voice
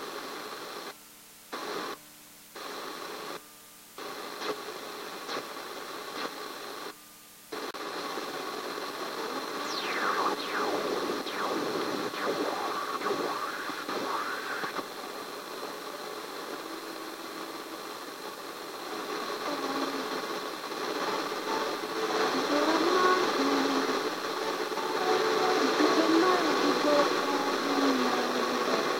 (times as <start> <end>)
9.6 14.8, 19.4 20.2, 22.2 24.1, 25.1 28.9